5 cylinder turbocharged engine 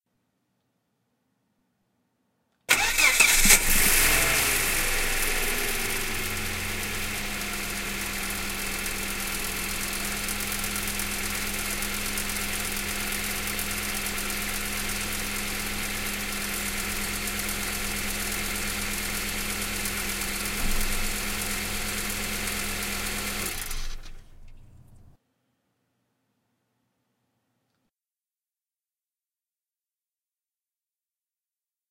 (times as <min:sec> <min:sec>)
0:02.7 0:24.9